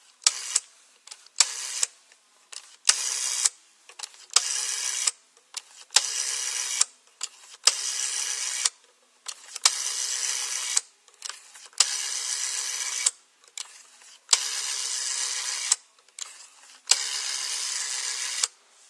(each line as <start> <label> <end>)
0.2 rotary dial 1.9
2.5 rotary dial 18.6